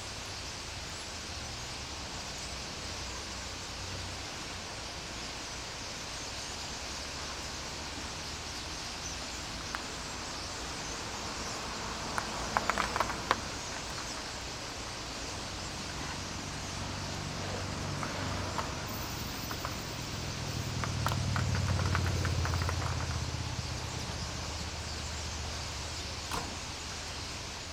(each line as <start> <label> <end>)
0.0 Birds 27.7